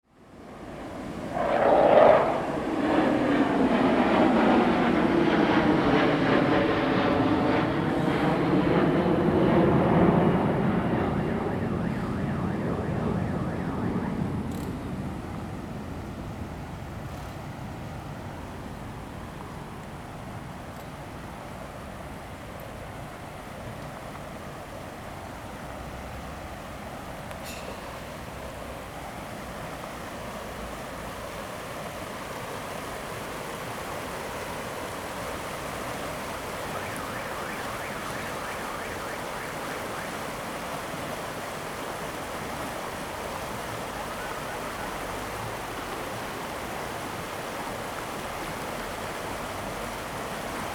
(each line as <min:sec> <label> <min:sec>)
0:00.3 Traffic Sound 0:05.1
0:00.6 Combat aircraft flying through 0:14.7
0:09.2 Traffic Sound 0:20.9
0:25.6 Traffic Sound 0:50.7